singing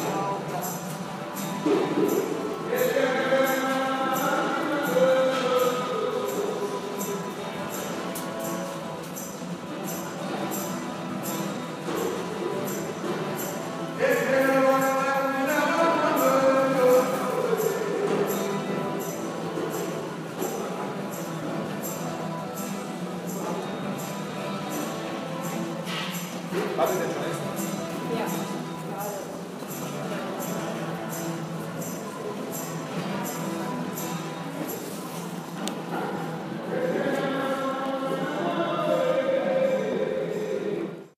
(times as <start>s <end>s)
2.6s 7.9s, 13.4s 19.3s, 36.4s 41.1s